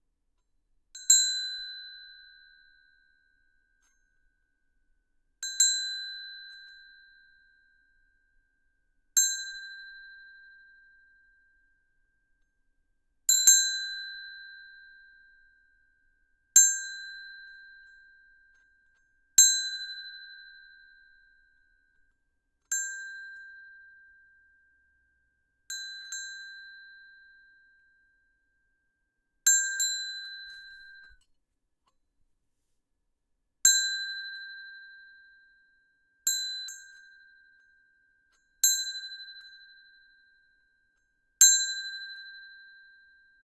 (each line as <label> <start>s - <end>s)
ringing a bell 25.7s - 28.1s
ringing a bell 29.5s - 31.2s